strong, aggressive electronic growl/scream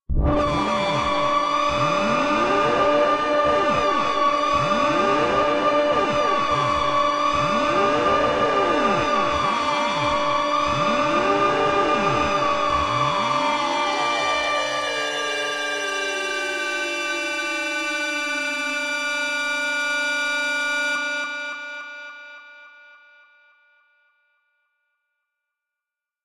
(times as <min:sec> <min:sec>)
0:00.1 0:18.8